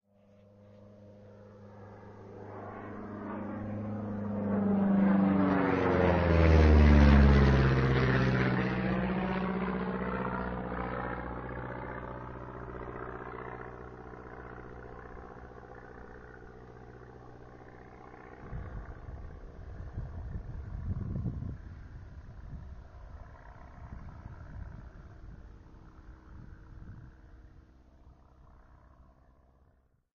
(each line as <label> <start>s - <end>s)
AIRPLANE FLYOVER 0.1s - 30.0s
wind sounds 18.2s - 27.4s